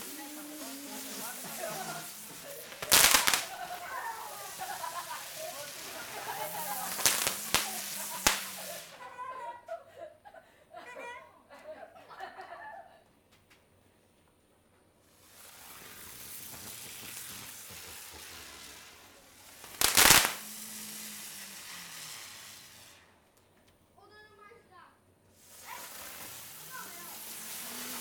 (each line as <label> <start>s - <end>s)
firecrackers 0.0s - 9.2s
Kids playing firecrackers 0.0s - 9.8s
Kids playing firecrackers 15.0s - 23.3s
firecrackers 15.0s - 23.4s
Kids playing firecrackers 25.3s - 28.0s
firecrackers 25.3s - 28.0s